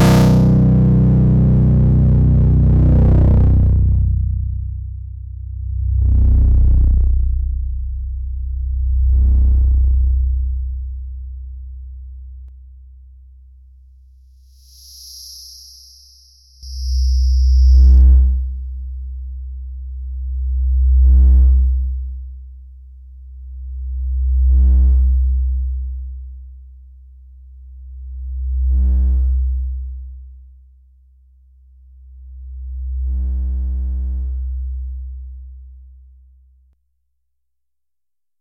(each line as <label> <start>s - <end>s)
bass-heavy feedback 0.0s - 13.7s
bass-heavy feedback 14.4s - 26.4s
bass-heavy feedback 27.7s - 30.2s
bass-heavy feedback 32.1s - 36.1s